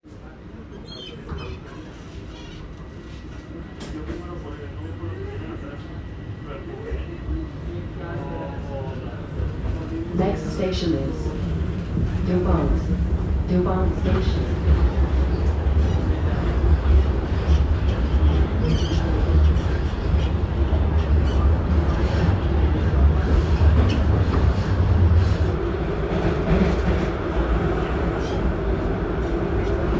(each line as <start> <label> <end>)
0.0 Subway train ride 29.9
10.1 station announcements 14.7